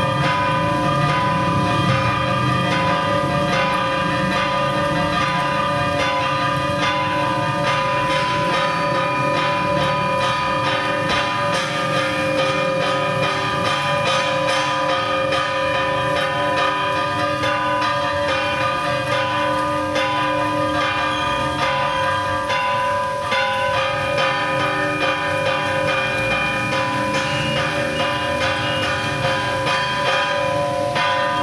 0.0s bells of a Church 31.4s

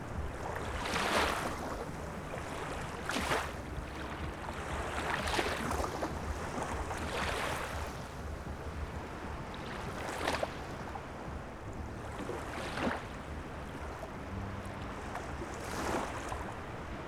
0.0s concert of the waves 17.0s

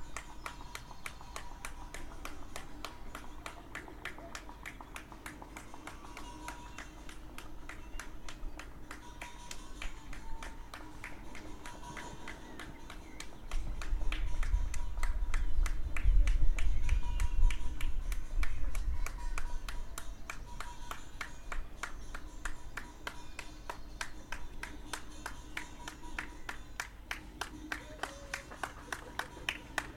0.0s tractors 16.7s
0.0s distant villagers 29.9s
11.6s birds 14.1s

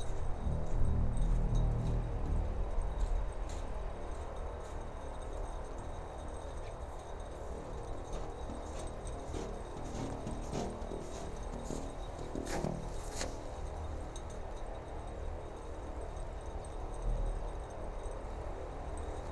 0.0s wind 19.3s
0.1s snow 16.6s

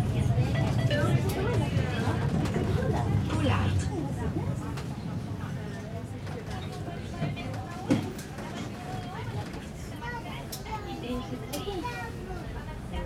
0.0s Modern Tram 13.0s

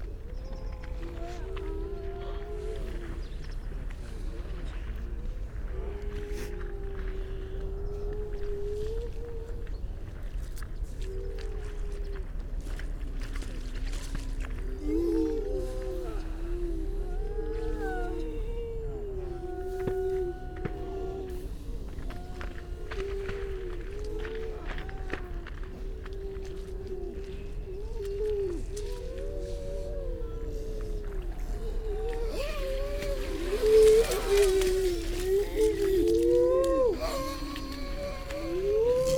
0.0s curlew 39.1s
0.0s grey seals 39.1s
10.8s pied wagtail 39.1s
28.0s starling 39.1s

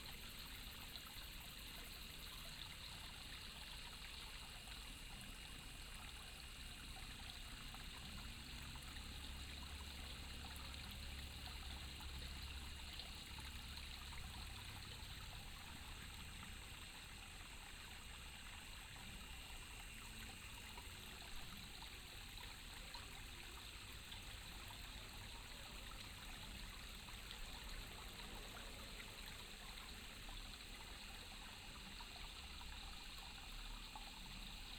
0.0s insects 34.7s

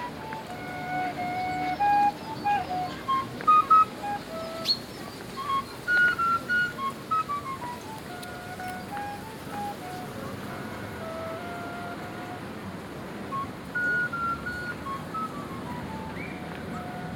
0.0s Flute player 17.1s

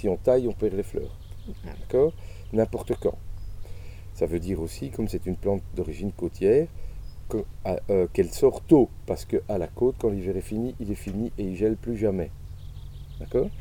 0.0s speaks about his passion and work 3.2s
4.2s speaks about his passion and work 12.3s
13.2s speaks about his passion and work 13.6s

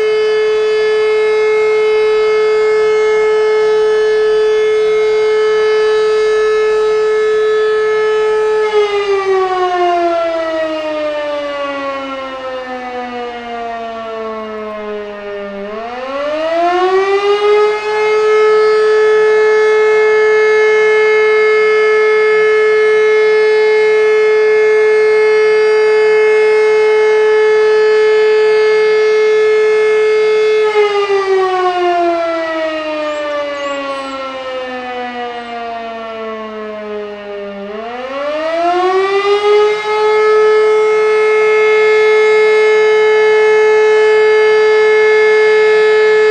0.0s siren's wailing 46.3s

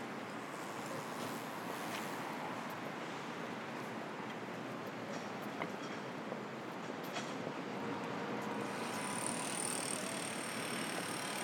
0.0s sidewalk constructions 11.4s
0.0s traffic 11.4s

